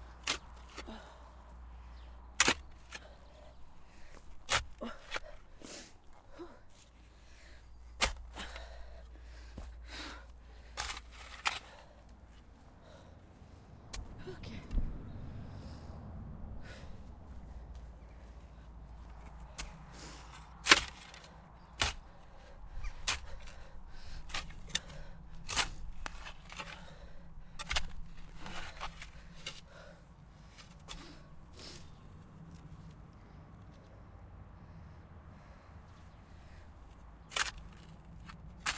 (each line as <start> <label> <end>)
0.0 tiresome digging 38.7
3.0 heavy breathing 14.5
26.6 heavy breathing 32.0
34.7 birds 37.9